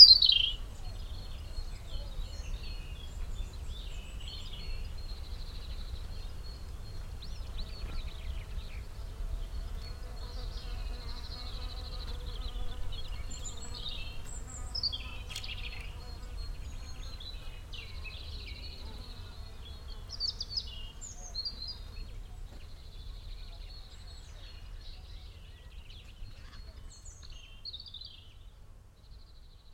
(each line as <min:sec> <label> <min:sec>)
0:00.0 bird song 0:29.7
0:06.9 bees 0:22.7